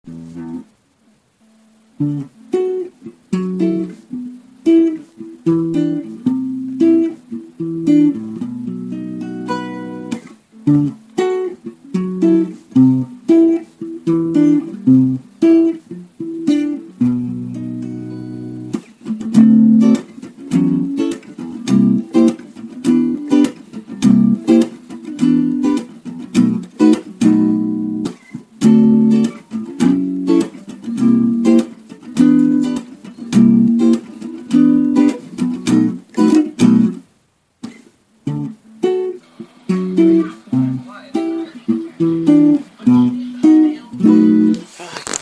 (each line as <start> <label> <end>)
0.0 Guitar 45.2